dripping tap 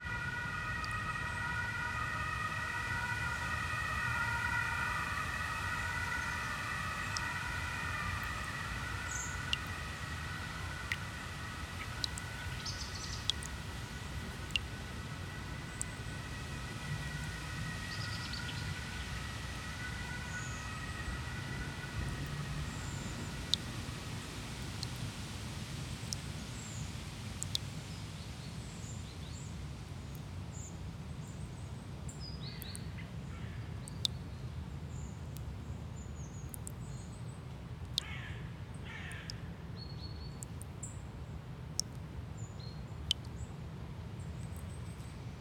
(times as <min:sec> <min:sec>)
0:11.8 0:13.6, 0:14.4 0:14.7, 0:27.4 0:27.6, 0:36.5 0:36.7